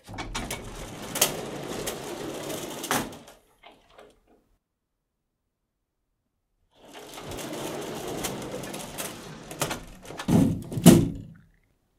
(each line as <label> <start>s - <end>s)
old door sliding along a metal track 0.0s - 4.4s
old door sliding along a metal track 6.8s - 11.0s